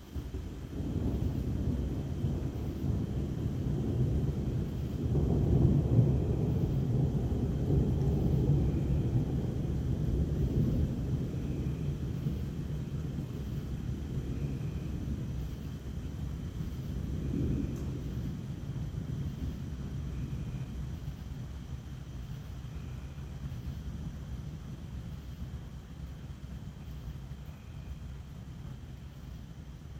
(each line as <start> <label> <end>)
0.0 Big thunder rumbles 29.9